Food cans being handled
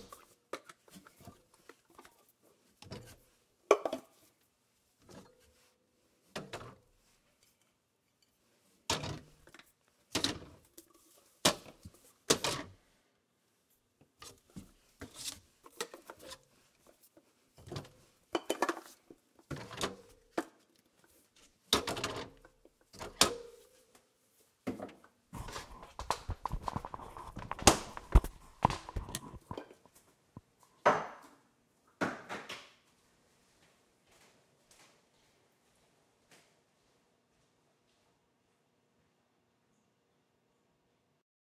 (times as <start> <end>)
14.2 20.9, 24.7 30.0